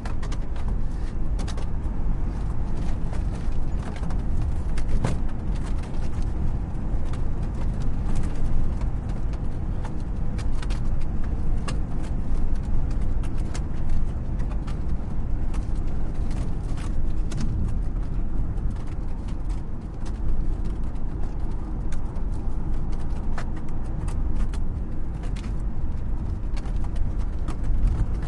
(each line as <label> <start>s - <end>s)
car 0.0s - 28.2s